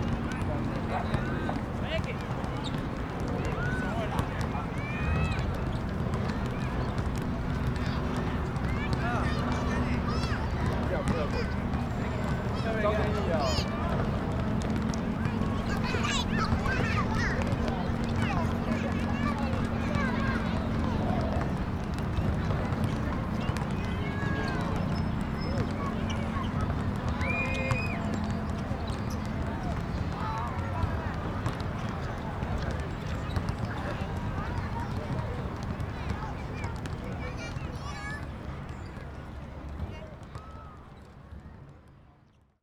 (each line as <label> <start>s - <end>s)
Traffic Noise 0.0s - 41.8s
basketball 0.0s - 42.0s
kids 3.6s - 38.4s